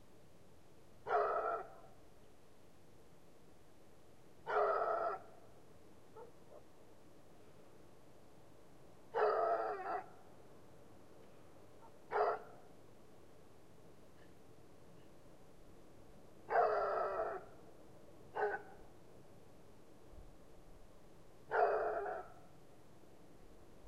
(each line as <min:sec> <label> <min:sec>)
0:04.5 howling dog 0:05.2
0:09.2 howling dog 0:10.1
0:16.5 howling dog 0:17.4
0:21.5 howling dog 0:22.3